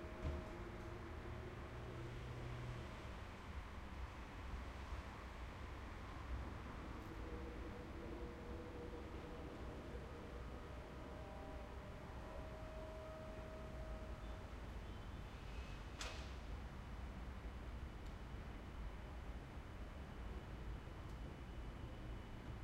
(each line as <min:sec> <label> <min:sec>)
0:00.0 street 0:22.6
0:00.0 train in distance 0:22.6